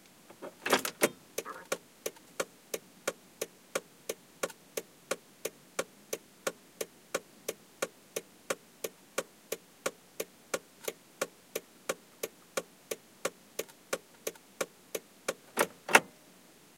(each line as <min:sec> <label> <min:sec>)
0:00.4 door 0:01.2